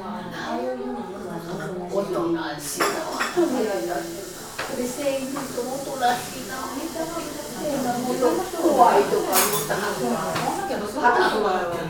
murmur of people 0.0 - 11.8

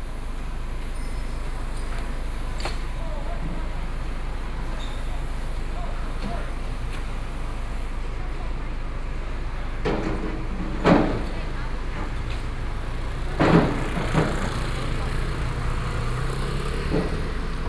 crowd on the road 0.0 - 17.6
vehicle 0.0 - 17.6
Construction noise 0.1 - 17.6
Demolition waste transporting bricks 10.0 - 17.6

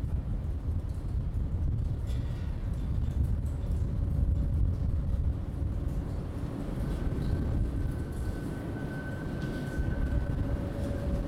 Windy tunnel 0.0 - 11.2
two trains above 2.4 - 11.2

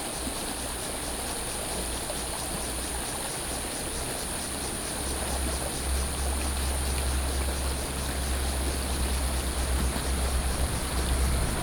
Stream 0.0 - 11.6
Cicada sounds 0.2 - 11.6
Traffic Sound 5.6 - 11.6

